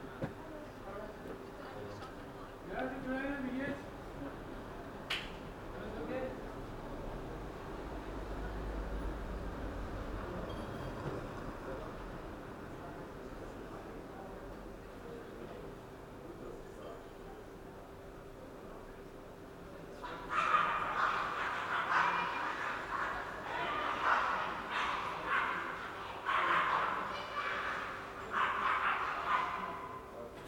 pedestrians passing by 0.0 - 30.3
little dogs fighting 20.1 - 29.8

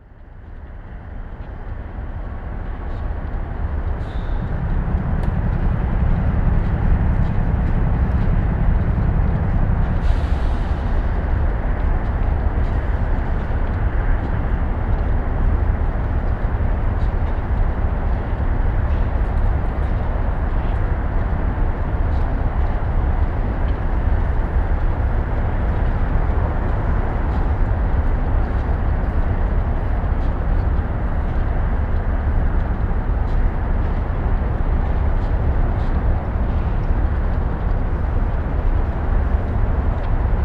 engines 1.7 - 40.4

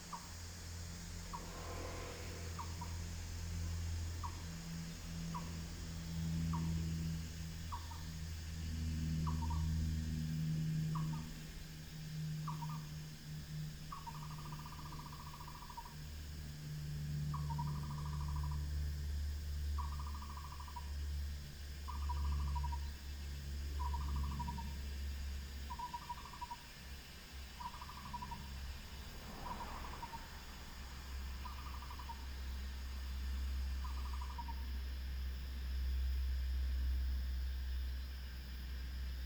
Traffic sound 0.0 - 5.8
Cicada 0.0 - 39.2
birds 25.6 - 34.8
Traffic sound 27.0 - 34.4

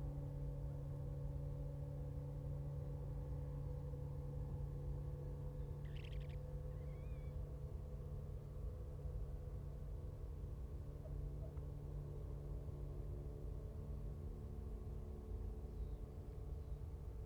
Birds singing 5.8 - 7.4

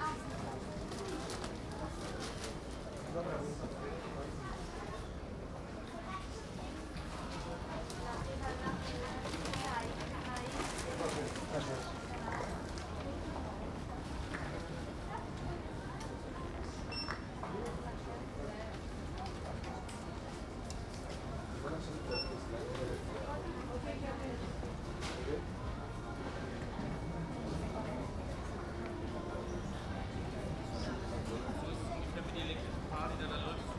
people near transport band 0.0 - 33.7

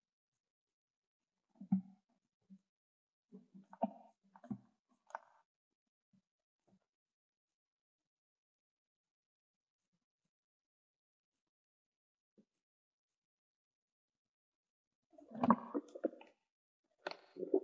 Underwater Sounds 15.2 - 16.4
Underwater Sounds 17.0 - 17.6

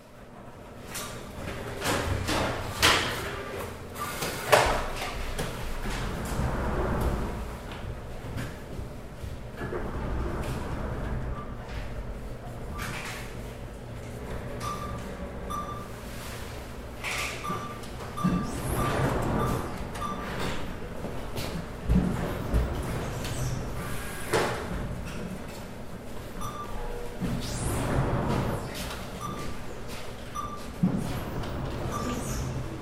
Cash machine room 9.6 - 32.8

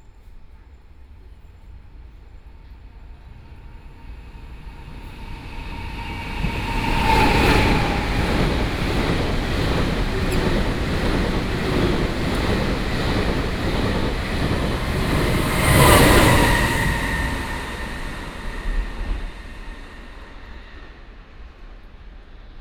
Train traveling through 2.0 - 22.5

